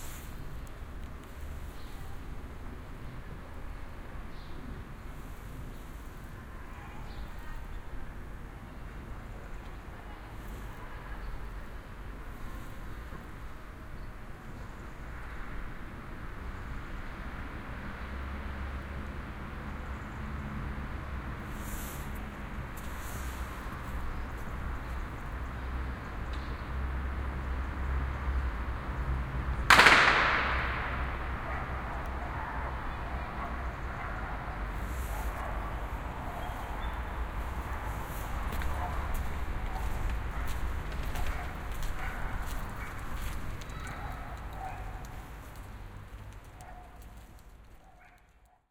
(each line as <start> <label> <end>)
6.6 dogs 7.7
31.4 dogs 45.6
46.4 dogs 48.7